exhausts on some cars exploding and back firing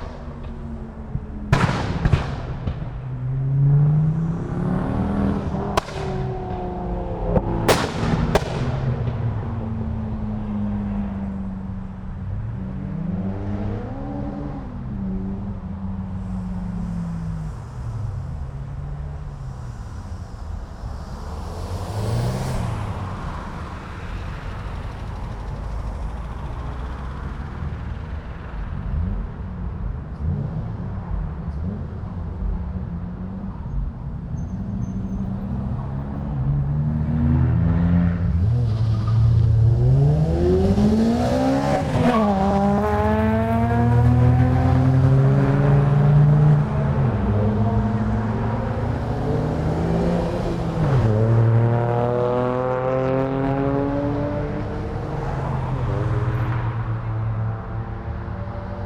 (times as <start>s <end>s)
1.5s 3.0s, 7.7s 9.3s